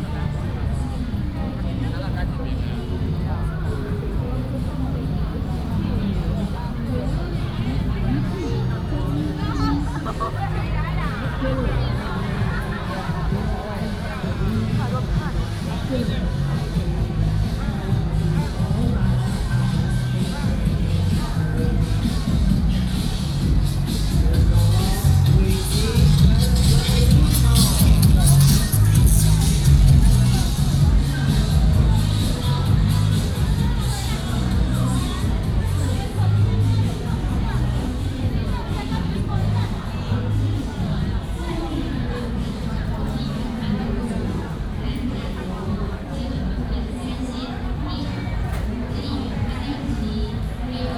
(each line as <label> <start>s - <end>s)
Walking on the road 0.0s - 50.9s